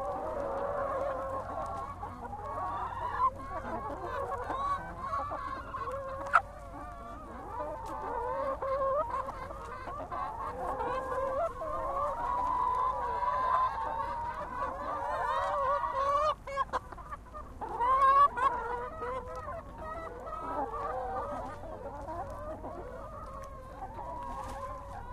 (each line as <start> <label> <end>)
0.0 chicken on farm 25.1